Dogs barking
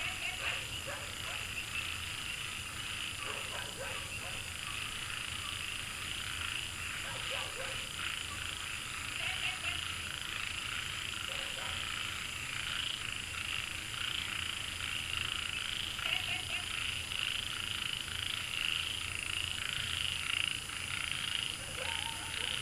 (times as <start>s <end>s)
0.2s 1.6s, 3.2s 4.6s, 7.0s 8.0s, 11.2s 12.0s, 21.5s 22.6s